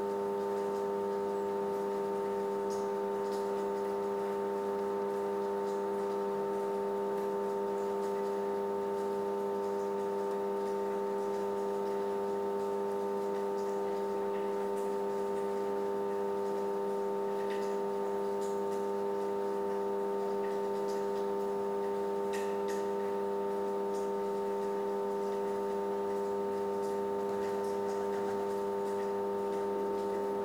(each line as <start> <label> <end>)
0.0 rain in background 30.4
19.1 Electric generator noise 30.4